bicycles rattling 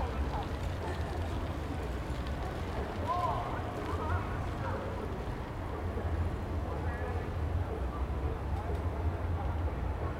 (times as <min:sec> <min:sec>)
0:00.0 0:06.4